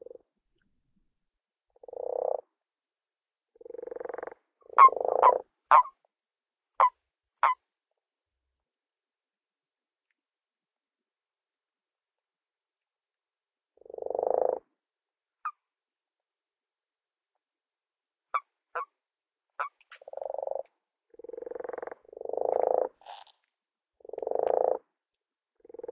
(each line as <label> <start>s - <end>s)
lower pitched croaks 3.6s - 5.4s
higher pitched qwarks are male toads 3.6s - 6.0s
higher pitched qwarks are male toads 6.8s - 7.6s
higher pitched qwarks are male toads 18.3s - 18.9s
higher pitched qwarks are male toads 19.6s - 23.4s
lower pitched croaks 19.7s - 23.4s
lower pitched croaks 24.0s - 24.9s
lower pitched croaks 25.6s - 25.9s